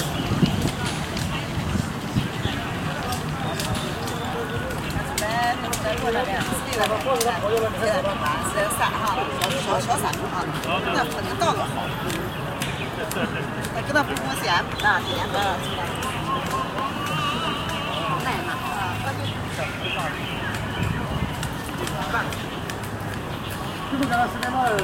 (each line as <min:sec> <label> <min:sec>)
0:00.0 People are walking by, talking 0:24.8
0:00.0 gardeners are clipping the bushes 0:24.8
0:00.0 traffic 0:24.8